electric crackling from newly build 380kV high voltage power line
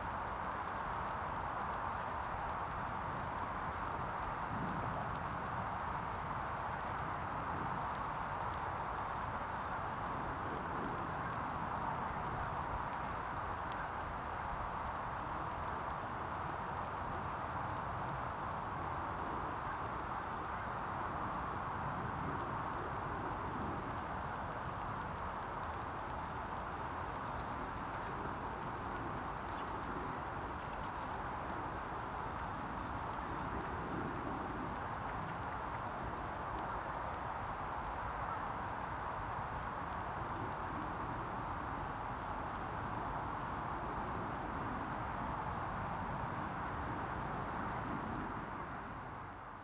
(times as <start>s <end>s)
0.0s 30.6s